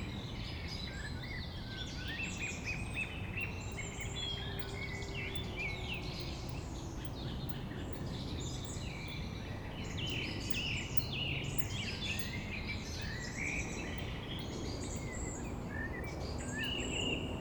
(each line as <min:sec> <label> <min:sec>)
0:00.0 evening birds 0:17.4
0:13.6 planes 0:17.4